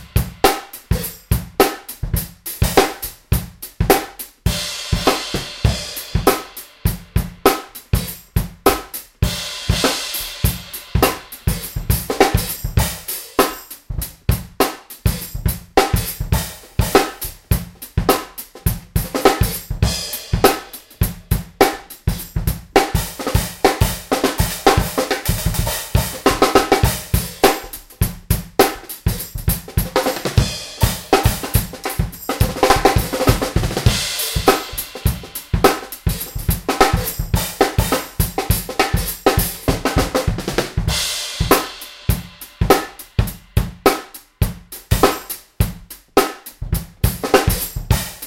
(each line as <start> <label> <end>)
0.0 hi hats w tambourine on top 48.2
8.7 small snare 9.1
42.7 small snare 43.2
43.9 small snare 48.2